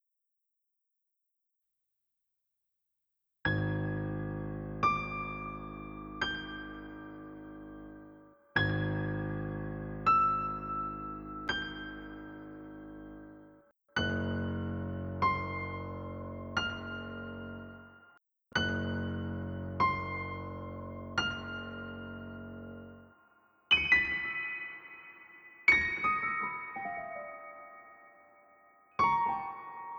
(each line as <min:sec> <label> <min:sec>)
0:03.4 piano 0:29.9